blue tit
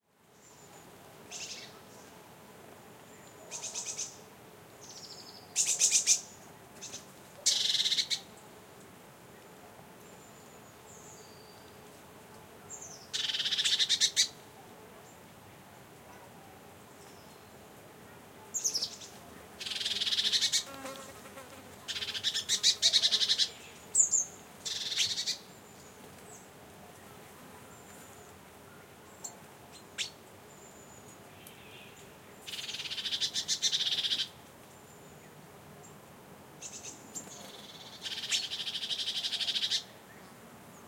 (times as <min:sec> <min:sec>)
0:03.5 0:04.2, 0:04.8 0:08.2, 0:12.8 0:14.4, 0:21.9 0:25.4, 0:31.4 0:34.4, 0:36.6 0:39.8